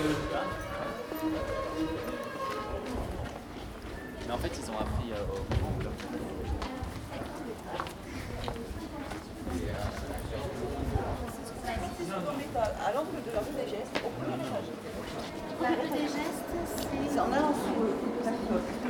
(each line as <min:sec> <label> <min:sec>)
0:00.0 man playing the fiddle 0:03.4